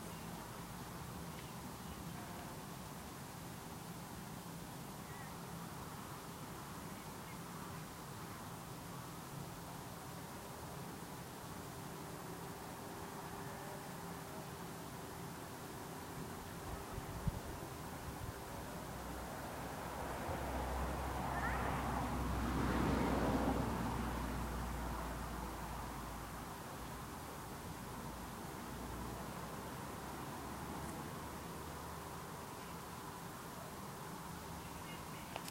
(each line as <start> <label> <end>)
0.0 traffic in the background 35.5